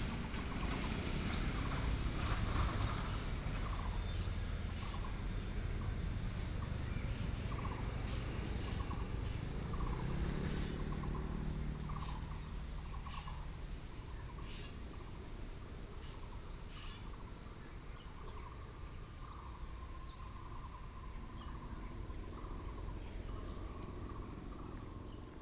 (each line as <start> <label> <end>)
0.0 Birds singing 25.4